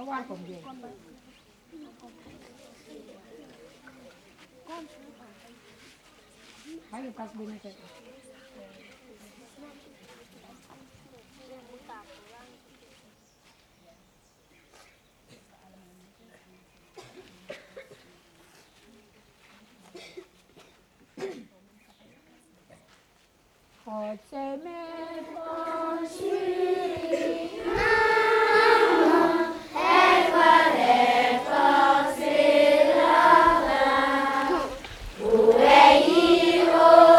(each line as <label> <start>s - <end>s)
school children sing national anthem 24.4s - 37.1s